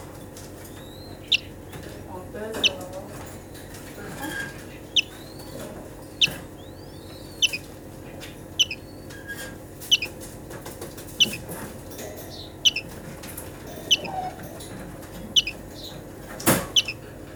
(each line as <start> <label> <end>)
0.0 common sounds of the daily life of the center 17.3
0.6 lonely greenfinch 10.2
11.2 lonely greenfinch 11.5
12.2 lonely greenfinch 13.0
13.6 lonely greenfinch 14.6
15.2 lonely greenfinch 16.0
16.6 lonely greenfinch 17.0